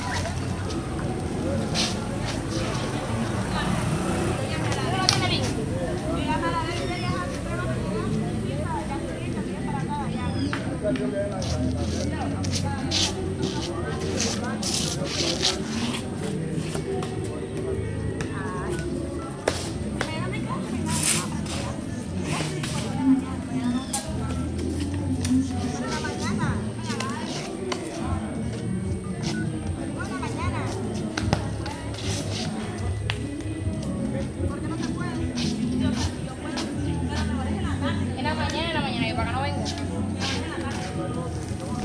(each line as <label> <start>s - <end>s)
Mujeres y balón 0.0s - 41.8s
adolescentes se prepara para jugar fútbol 0.0s - 41.8s